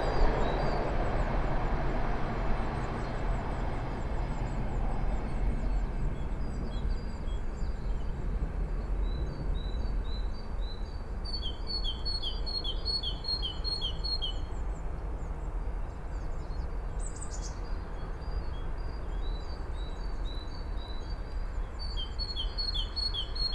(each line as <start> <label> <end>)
0.0 train 23.5